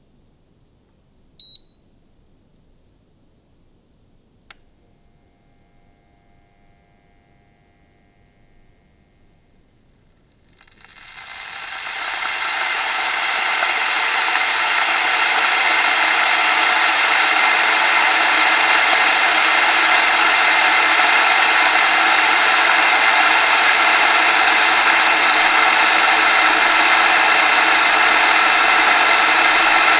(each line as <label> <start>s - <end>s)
water heating and bubbling inside an electric kettle 10.4s - 29.9s